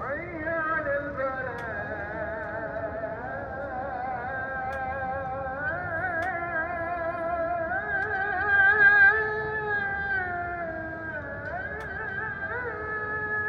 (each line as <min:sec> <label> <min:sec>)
0:00.0 Muezzin call to prayer 0:13.4